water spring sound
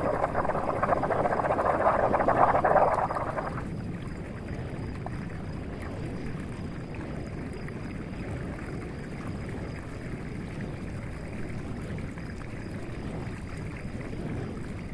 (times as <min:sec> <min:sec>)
0:00.0 0:03.7